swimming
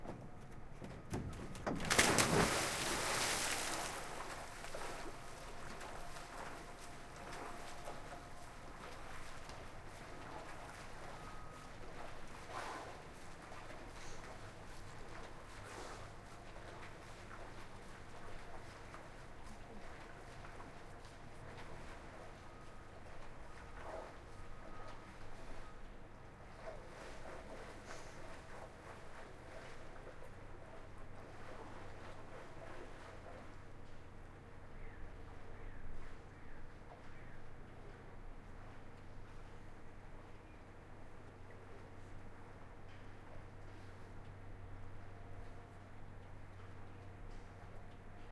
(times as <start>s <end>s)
1.8s 14.4s